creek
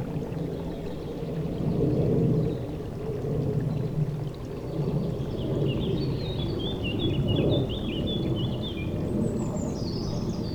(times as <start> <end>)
0.0 7.1